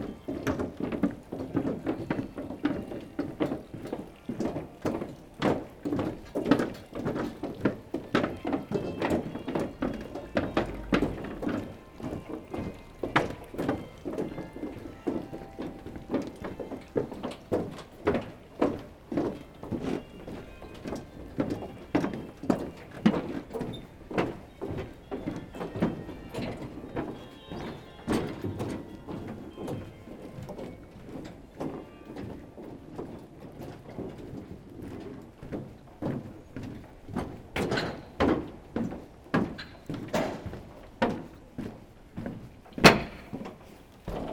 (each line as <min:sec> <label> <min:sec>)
0:00.0 person walking on the very pleasant pontoon, made in wood 0:44.3
0:13.2 carillon 0:17.3